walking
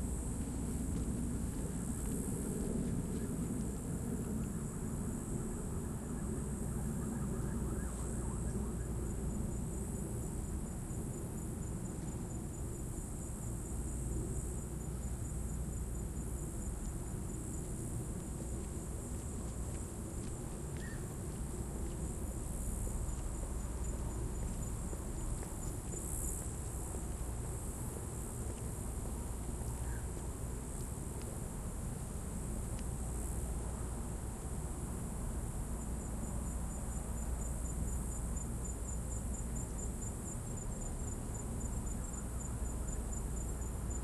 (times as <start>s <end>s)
0.1s 4.6s, 16.7s 34.6s